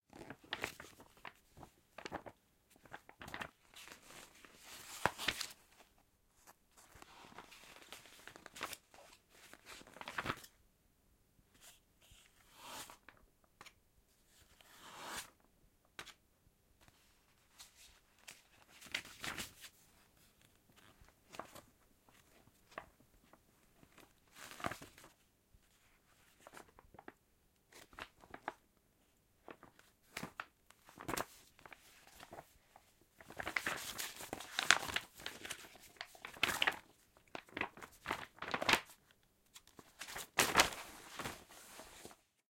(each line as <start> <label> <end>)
0.2 pages 5.8
29.5 pages 32.5
33.2 pages 42.2